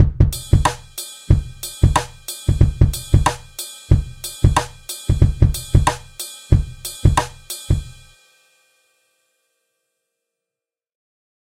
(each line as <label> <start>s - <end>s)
Hip Hop beat 0.0s - 8.2s